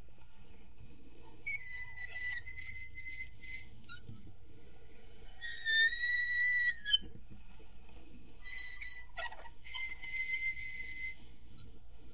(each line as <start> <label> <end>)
1.3 medium to slow squeaking 7.1
8.4 medium to slow squeaking 12.1